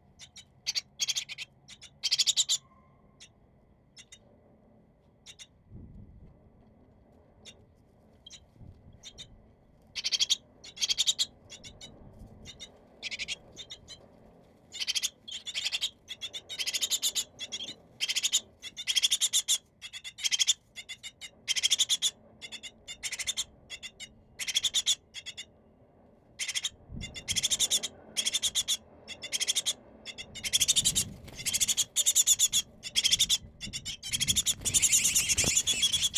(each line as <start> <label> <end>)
0.2 young tits' nest in a lamp post 2.6
10.0 young tits' nest in a lamp post 11.9
12.5 young tits' nest in a lamp post 14.0
14.7 young tits' nest in a lamp post 25.5
26.4 young tits' nest in a lamp post 36.1